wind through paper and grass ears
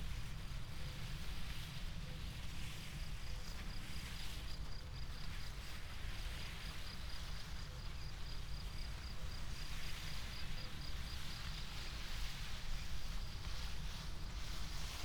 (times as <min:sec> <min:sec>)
0:11.5 0:15.0